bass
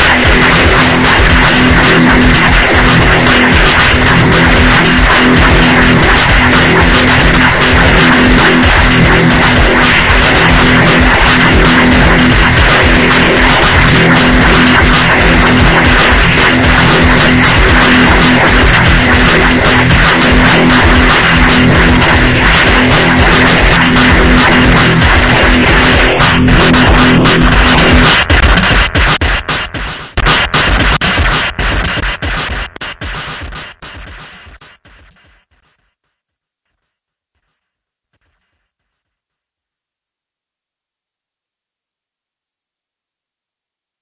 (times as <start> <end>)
0.0 34.6